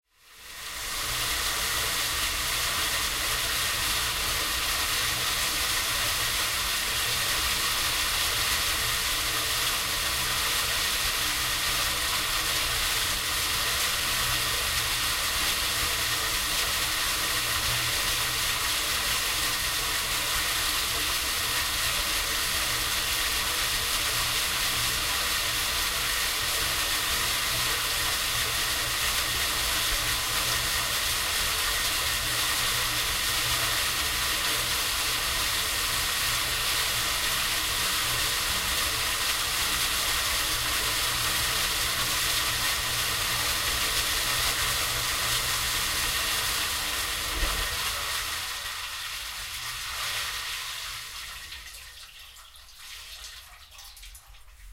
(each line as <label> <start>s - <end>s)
electric water pump 0.0s - 54.7s
Splash 0.6s - 54.7s